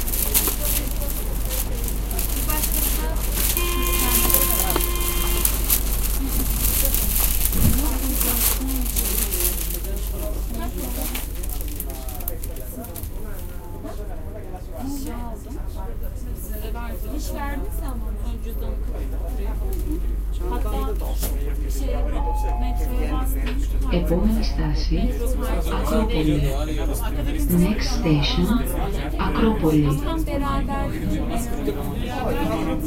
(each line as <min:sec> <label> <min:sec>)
0:00.0 People talking 0:32.8
0:00.0 ride in the Athens underground 0:32.8
0:01.6 announcements for each station 0:06.1
0:21.9 announcements for each station 0:26.6
0:27.2 announcements for each station 0:31.1